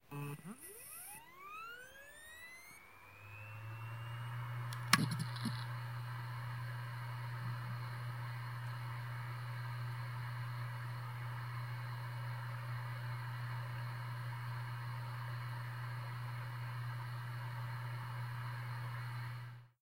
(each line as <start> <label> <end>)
0.0 Hard drive spin up 19.8